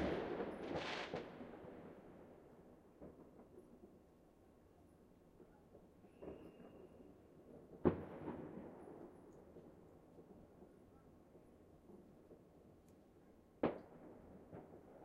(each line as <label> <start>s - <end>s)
fireworks 0.0s - 4.6s
fireworks 5.3s - 12.7s
fireworks 13.6s - 15.0s